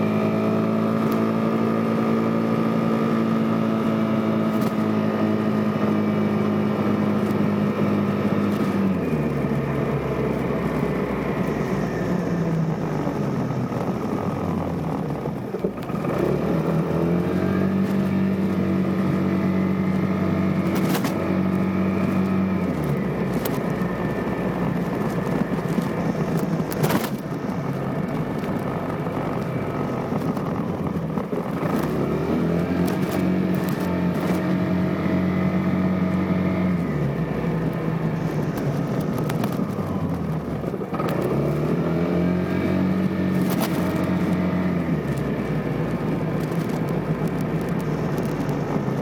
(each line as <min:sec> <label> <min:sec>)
0:00.0 Vespa ride 0:49.0